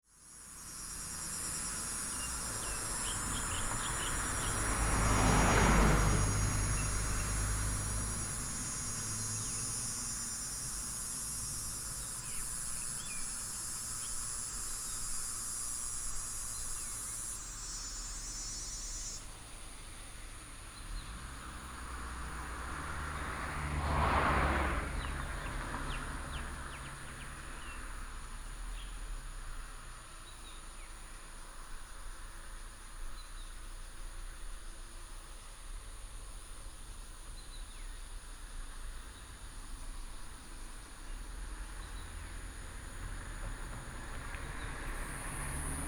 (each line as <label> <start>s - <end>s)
Cicadas 0.0s - 45.8s
Traffic sound 0.2s - 45.8s